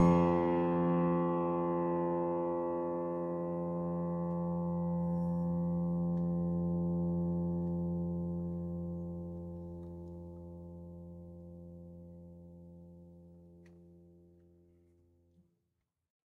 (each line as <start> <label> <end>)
0.0 piano strings played with a finger 10.7